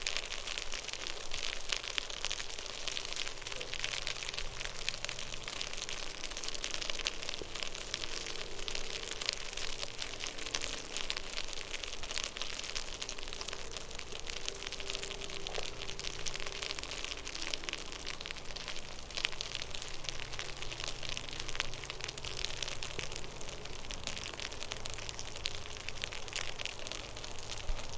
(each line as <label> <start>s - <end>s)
larvae make a soft, continuous, hissing/crackling sound 0.0s - 27.9s